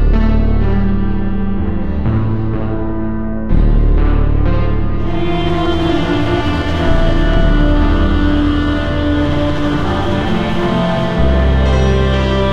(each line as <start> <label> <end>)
0.0 simple accompanying bass 12.5
3.5 plucked string instrument 12.5
5.0 people singing 12.5